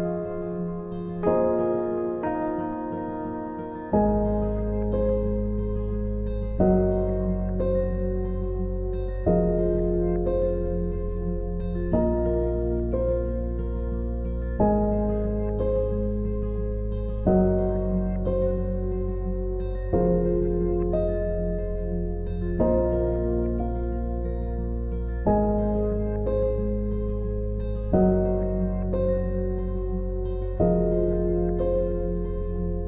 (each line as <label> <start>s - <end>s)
Bass 0.0s - 2.1s
Guitar 0.0s - 32.8s
Piano 0.0s - 32.8s
Bass 3.9s - 32.8s